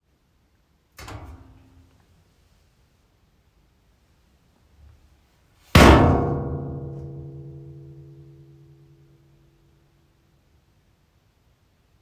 Washing machine/washer door opening mildly, then closing loudly 1.0 - 1.7

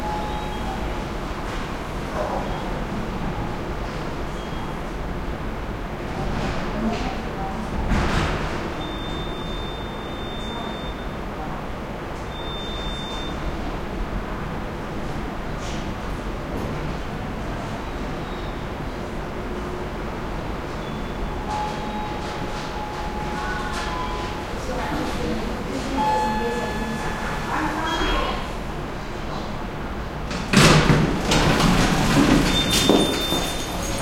elevator open 0.0 - 5.1
heavy ventilation 0.0 - 34.0
elevator open 6.0 - 34.0
cart comes out 31.2 - 34.0

